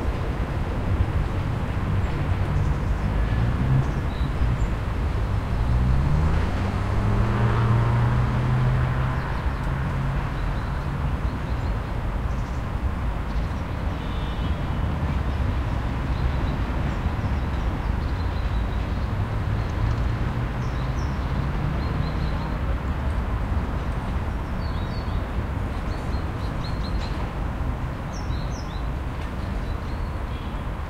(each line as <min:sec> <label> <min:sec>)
0:00.0 traffic 0:30.8